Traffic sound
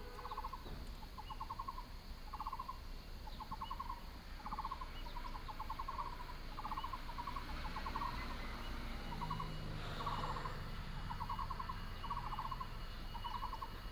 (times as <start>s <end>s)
4.2s 13.9s